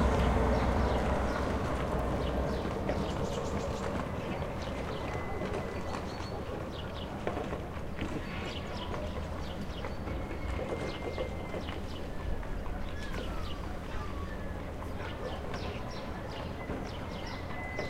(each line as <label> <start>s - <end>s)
Two Carts passing 0.0s - 6.6s
birds 0.0s - 17.8s